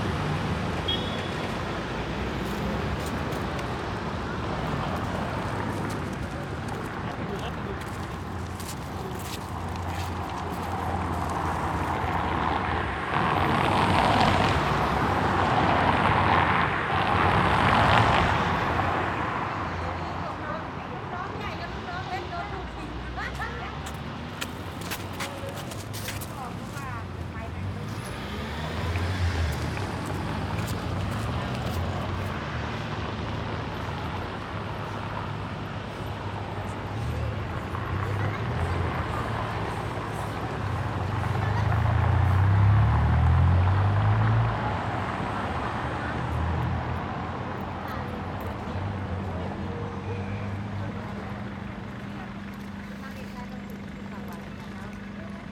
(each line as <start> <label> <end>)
0.0 passers-by 55.5
0.0 traffic 55.5
0.0 workers gather around the two bus stops 55.5